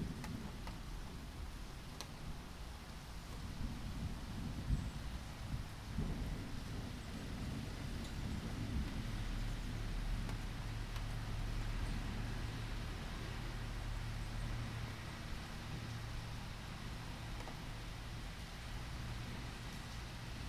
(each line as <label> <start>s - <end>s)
the rain is almost over 0.0s - 20.4s